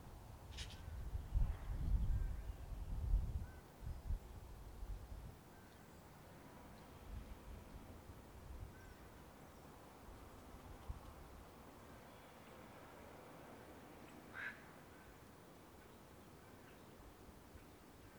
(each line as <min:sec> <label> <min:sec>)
0:05.4 Birds 0:18.1